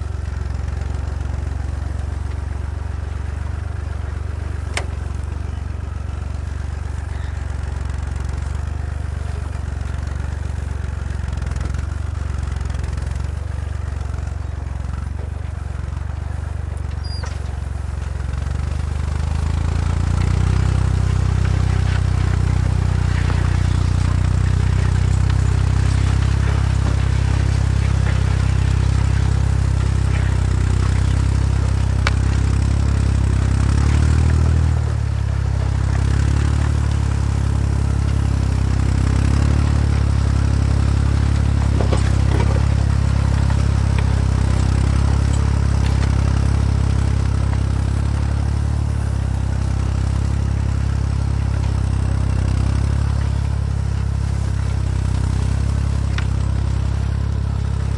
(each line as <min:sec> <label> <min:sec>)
0:00.0 Old tractor ploughing on the field 0:57.9
0:00.0 Plough 0:57.9